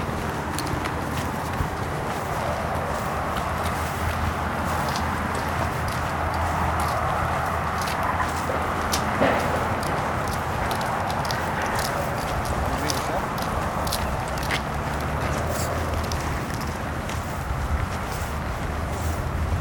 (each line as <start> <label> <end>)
0.0 propeller aircraft overhead 19.6
0.0 road traffic noise 19.6